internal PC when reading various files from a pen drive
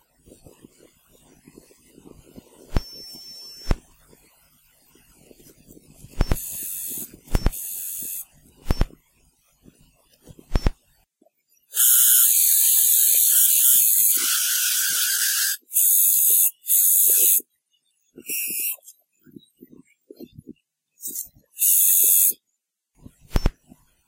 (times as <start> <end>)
0.3 4.3, 5.2 9.0, 9.8 10.8, 11.6 17.5, 23.1 23.7